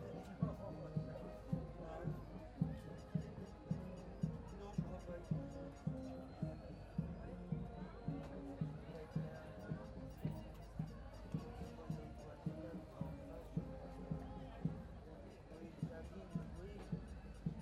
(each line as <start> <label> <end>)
0.0 fanfare paces in the street 17.6